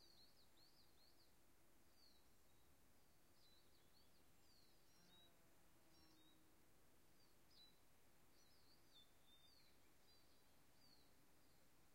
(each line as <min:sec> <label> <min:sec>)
0:07.1 birds 0:11.9